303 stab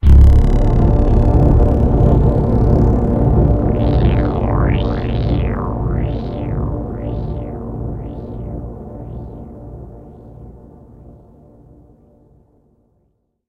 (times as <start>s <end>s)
0.0s 8.4s